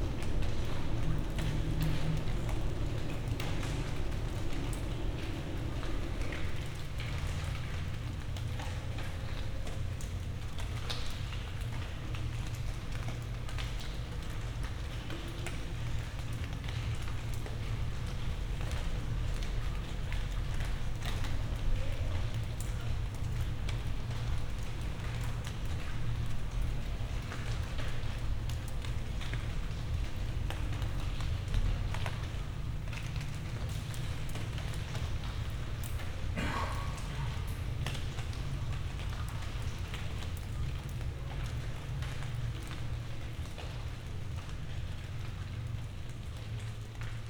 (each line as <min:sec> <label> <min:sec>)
0:00.0 raindrops hitting leaves 0:47.2